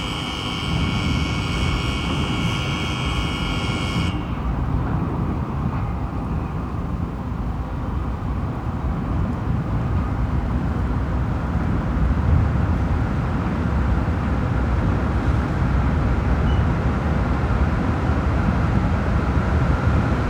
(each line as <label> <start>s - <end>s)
alarms sound for the start of the nearby conveyer belts 0.0s - 4.6s
conveyer belts 0.0s - 11.4s